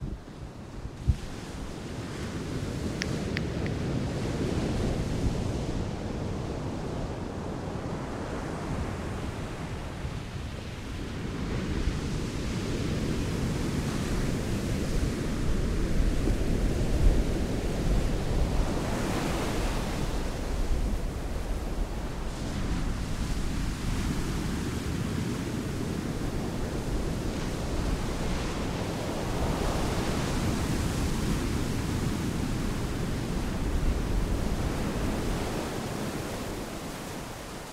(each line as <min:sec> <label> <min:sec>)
0:00.0 Waves, distant 0:37.7